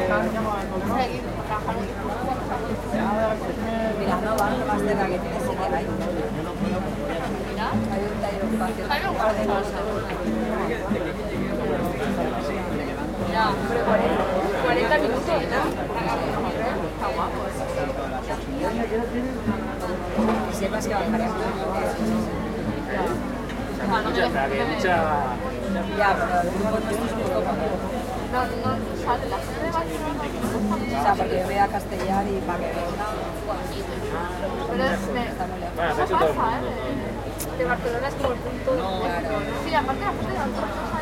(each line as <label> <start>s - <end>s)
tuna street music band 0.0s - 41.0s